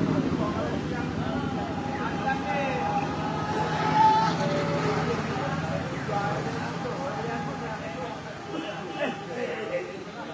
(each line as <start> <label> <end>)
0.0 car bikes are moving 9.2
0.0 people talking in street side 10.3
8.4 car horn 9.7